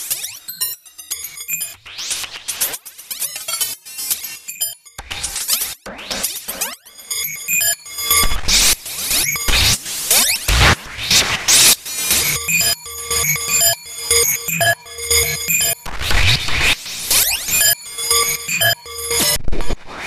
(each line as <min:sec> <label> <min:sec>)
0:12.1 synthesizer 0:16.4
0:12.2 drum 0:16.3
0:17.1 synthesizer 0:19.4
0:17.5 drum 0:19.4